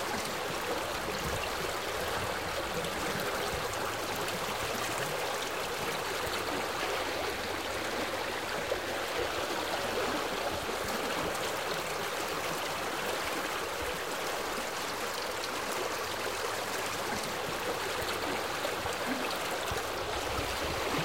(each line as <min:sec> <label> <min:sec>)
0:00.0 water was flowing gently 0:21.0